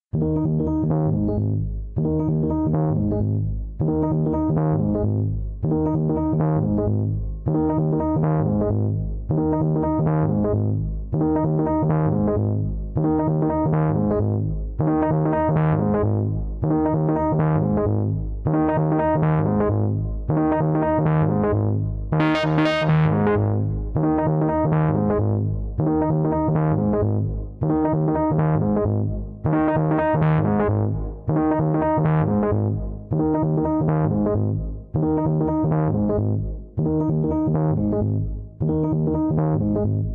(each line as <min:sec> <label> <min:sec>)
0:00.2 synth 0:40.1